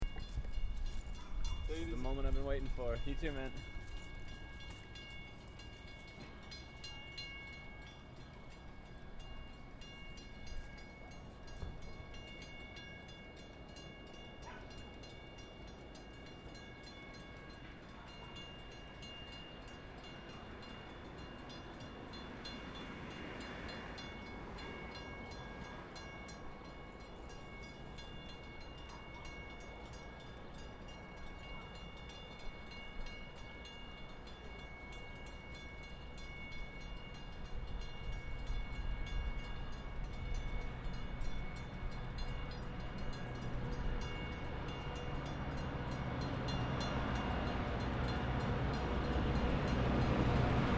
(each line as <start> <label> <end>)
0.0 outbound Lowell commuter rail arrives 50.7